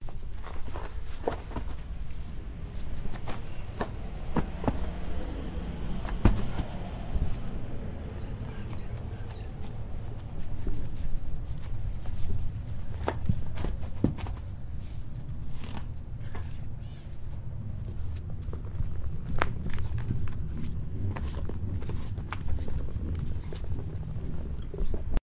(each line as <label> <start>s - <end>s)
Rolling tire 0.0s - 16.0s